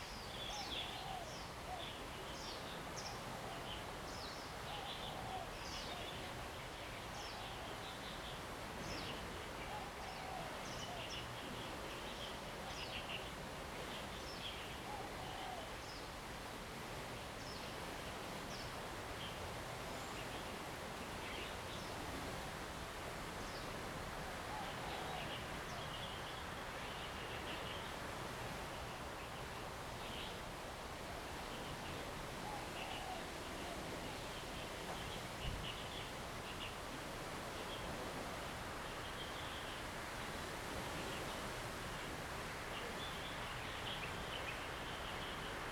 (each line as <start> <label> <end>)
0.0 wind 45.7